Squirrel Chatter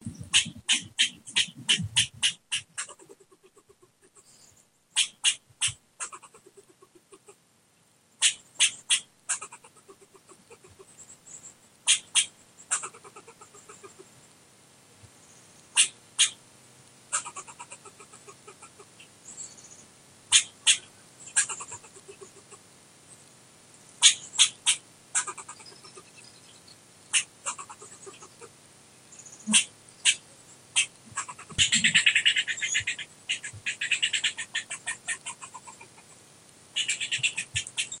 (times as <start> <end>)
0.0 4.4, 5.0 7.4, 8.2 10.9, 11.8 14.1, 15.7 16.4, 17.1 19.1, 20.3 22.6, 24.0 26.3, 27.1 28.6, 29.2 36.2, 36.8 38.0